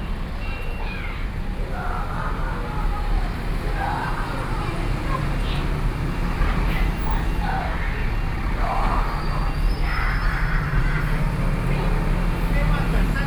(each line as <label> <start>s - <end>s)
Traffic Noise 0.0s - 13.2s
Walking in the street 0.0s - 13.2s